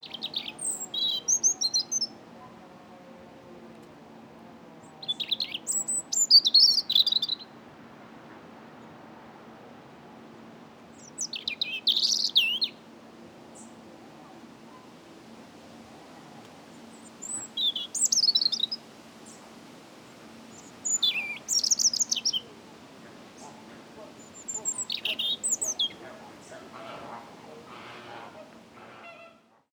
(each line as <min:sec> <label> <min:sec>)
0:00.0 young robin sings 0:02.6
0:04.8 young robin sings 0:07.6
0:10.9 young robin sings 0:12.9
0:16.7 young robin sings 0:19.6
0:20.4 young robin sings 0:27.2